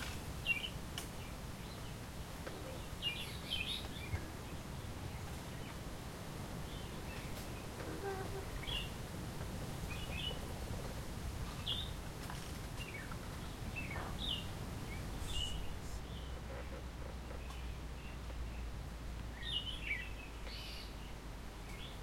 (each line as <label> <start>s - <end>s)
Bamboos creaks as they hit each others with the wind 0.0s - 15.3s
leaves rustle in the wind 0.0s - 22.0s